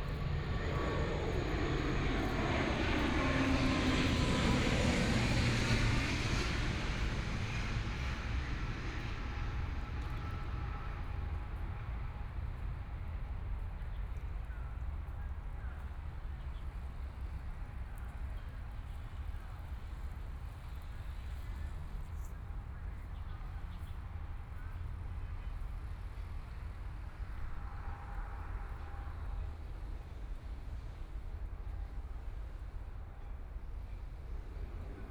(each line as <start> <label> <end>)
0.0 Aircraft flying through 11.4